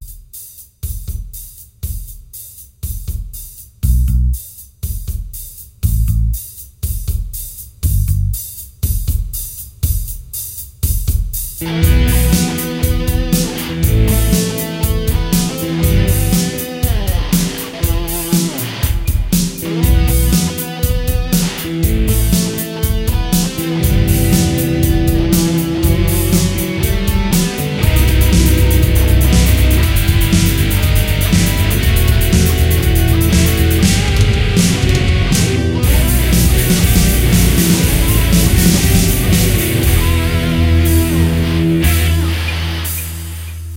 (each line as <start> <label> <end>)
11.6 guitar solo 43.3